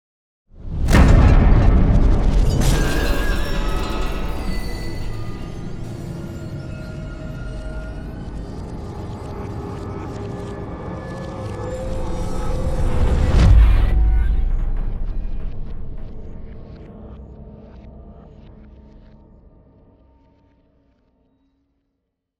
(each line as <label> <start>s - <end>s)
boom 0.6s - 6.8s
whoosh 0.6s - 7.2s
boom 12.8s - 16.6s